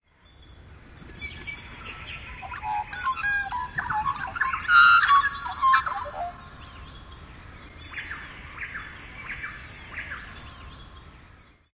magpie 2.4 - 6.4

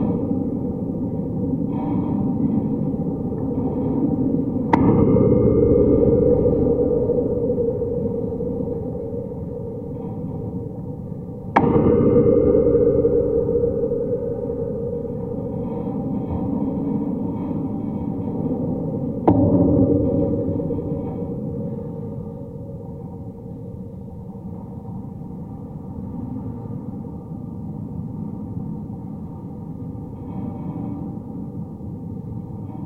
Metal wire fence vibrating in the wind 0.0 - 32.8
hit the metal a few times 4.7 - 18.5

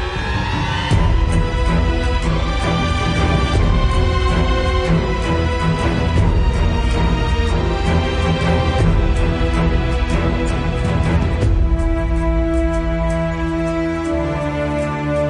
brass 0.0 - 15.2
percussion 0.0 - 15.2
string 0.0 - 15.2
woodwinds 0.0 - 15.2

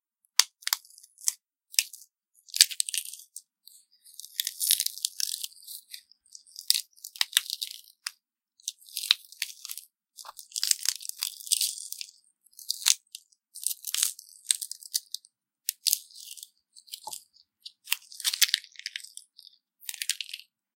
celery crunching 4.2 - 7.8
celery crunching 8.7 - 20.5

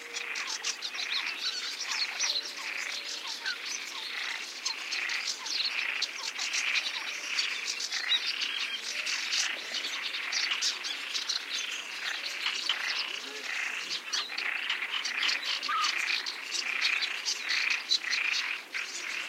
Coot 0.0 - 19.2
Crested Lark 0.0 - 19.2
Little Grebe 0.0 - 19.2
frog 0.0 - 19.2

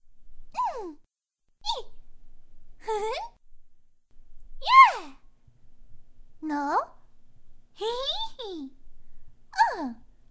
Anime Magical Girl Voice 2.8 - 3.4
Anime Magical Girl Voice 4.6 - 5.2
Anime Magical Girl Voice 6.4 - 7.0
Anime Magical Girl Voice 7.8 - 8.8
Anime Magical Girl Voice 9.6 - 10.1

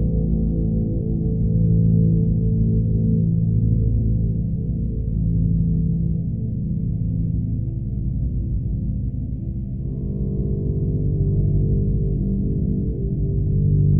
bowed guitar 9.8 - 13.9

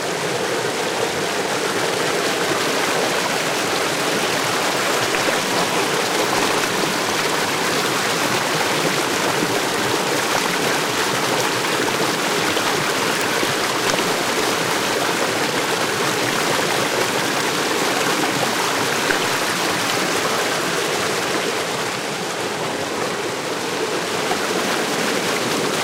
Bubbly Loud stream 0.0 - 25.8
waterfall 0.0 - 25.8

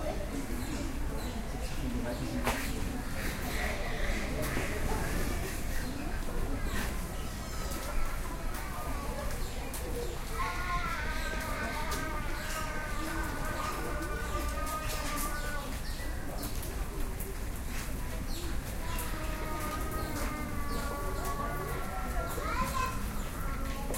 visitors of a zoo 0.0 - 23.9

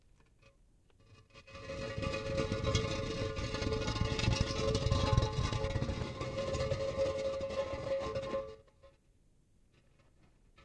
Dragging different kinds of stones, concrete blocks 0.0 - 9.1

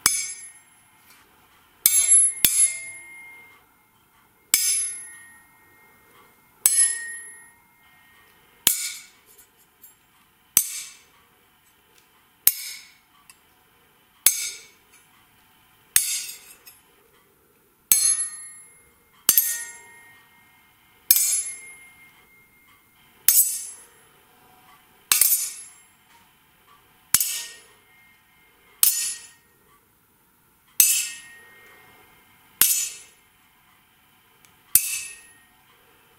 Sword hits 0.0 - 0.6
Sword hits 4.5 - 5.4
Sword hits 6.6 - 7.5
Sword hits 8.7 - 9.2
Sword hits 10.6 - 11.0
Sword hits 12.5 - 13.0
Sword hits 14.3 - 14.7
Sword hits 16.0 - 16.6
Sword hits 21.1 - 21.8
Sword hits 23.3 - 23.8
Sword hits 25.1 - 25.7
Sword hits 27.2 - 27.6
Sword hits 28.8 - 29.4
Sword hits 30.8 - 31.4
Sword hits 32.6 - 33.1
Sword hits 34.8 - 35.4

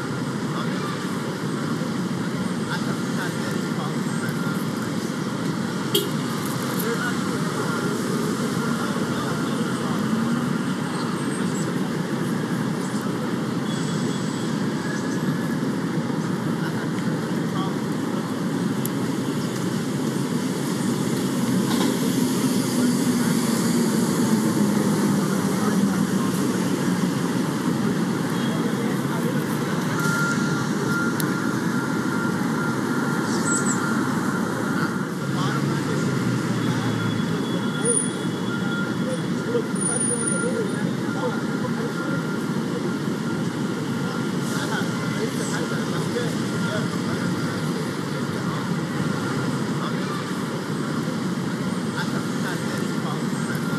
chatter 0.0 - 53.7
traffic 0.0 - 53.7

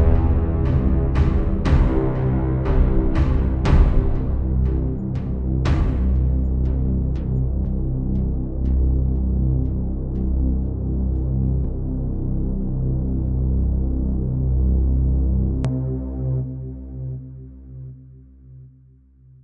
Drum 0.0 - 5.0
Bass 0.0 - 19.4
Drum 5.7 - 6.3

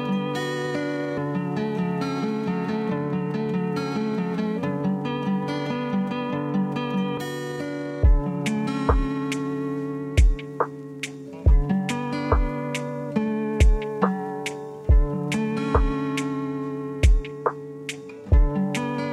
acoustic guitar 0.0 - 19.1
drum loop 8.0 - 9.6
drum loop 10.2 - 13.0
drum loop 13.6 - 16.4
drum loop 17.0 - 19.1

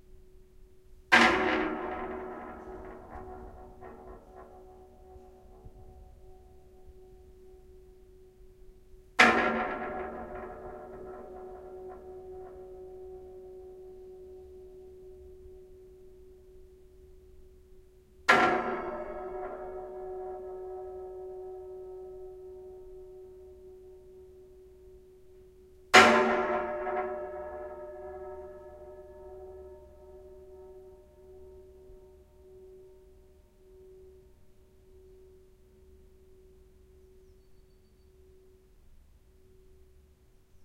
Metal drying frame gong 1.1 - 16.6
Metal drying frame gong 18.3 - 37.5

